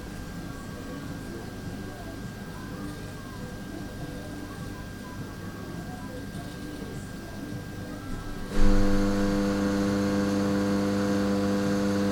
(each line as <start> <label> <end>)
8.0 Machinery 12.1